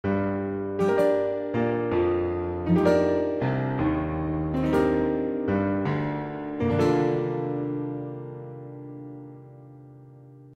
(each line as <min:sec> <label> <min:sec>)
0:00.0 piano little riff 0:10.5